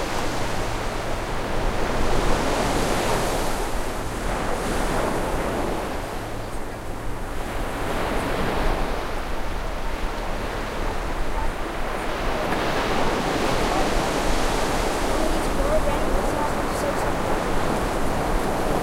surf 0.0 - 18.8

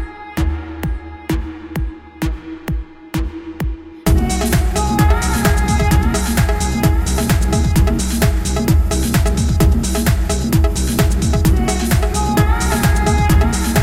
Electrobass music 0.0 - 13.8
beat 0.0 - 13.8
synth 4.1 - 13.8

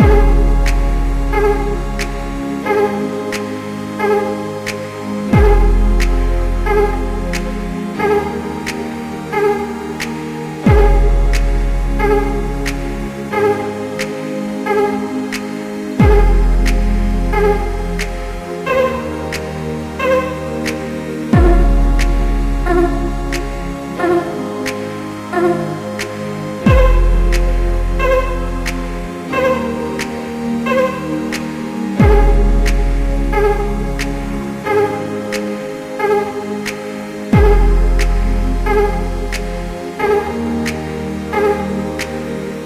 Electro vox 0.0 - 42.6
synthesizer 0.0 - 42.6

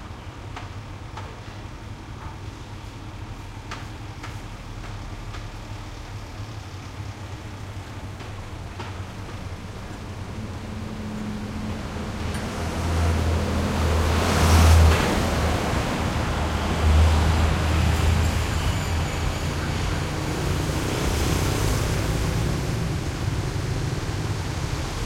traffic medium busy 6.0 - 25.0

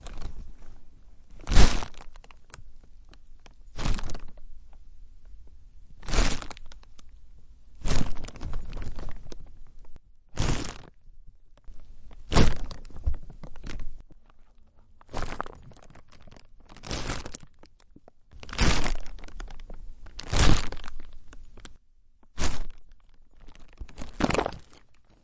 Plastic Bag Crunch 0.0 - 0.7
Plastic Bag Crunch 1.3 - 4.4
Plastic Bag Crunch 6.0 - 7.0
Plastic Bag Crunch 7.8 - 11.0
Plastic Bag Crunch 11.7 - 25.2

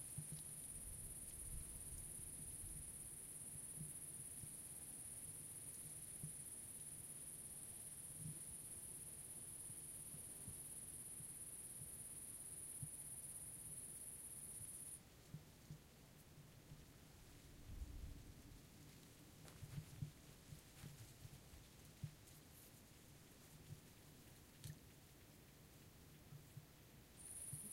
crickets 0.0 - 15.0
crickets 27.1 - 27.7

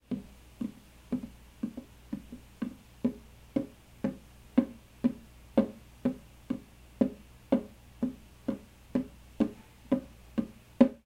steps 0.0 - 11.0

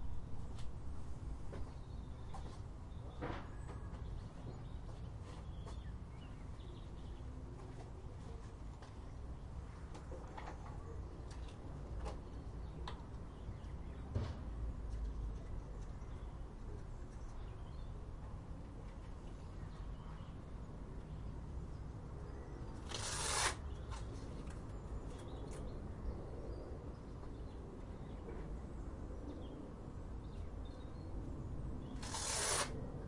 sticky tape 22.8 - 24.1
sticky tape 32.0 - 32.8

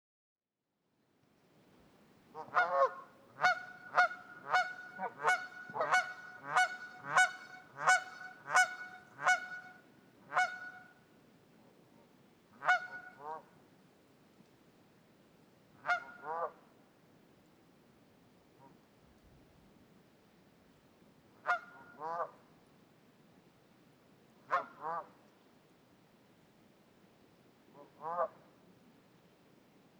Argumentative Canada Geese 2.4 - 9.7

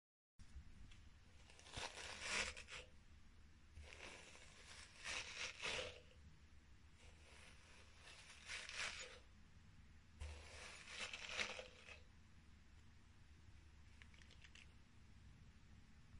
short hairbrush sound 1.5 - 2.9
short hairbrush sound 3.8 - 6.2
short hairbrush sound 7.0 - 9.3
short hairbrush sound 10.2 - 12.1

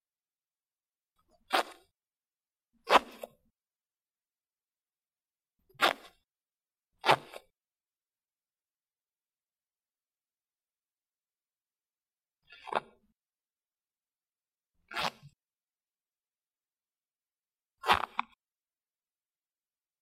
jean pants zipper 2.8 - 3.3
jean pants zipper 5.7 - 6.2
jean pants zipper 14.9 - 15.4
jean pants zipper 17.8 - 18.3

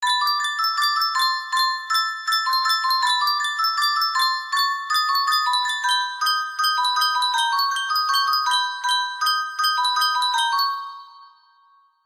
Music box sound 0.0 - 12.0

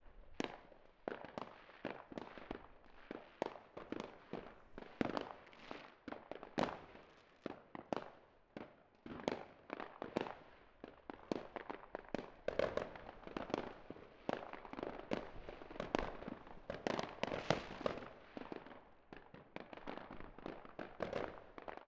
firecrackers 0.0 - 21.8
distant and near fireworks 0.2 - 21.8
rockets 16.9 - 18.2

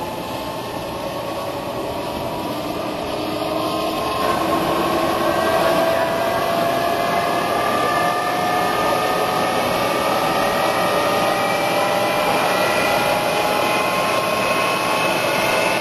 Single engine jet dragster warming up to full power 0.0 - 15.8
crowd noises 0.0 - 15.8

